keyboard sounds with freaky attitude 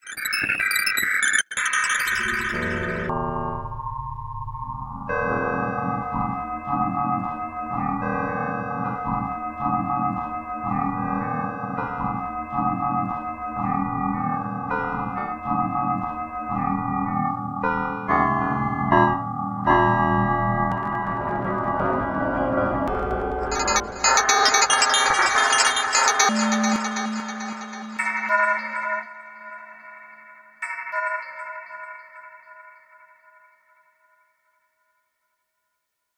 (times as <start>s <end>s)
5.1s 29.8s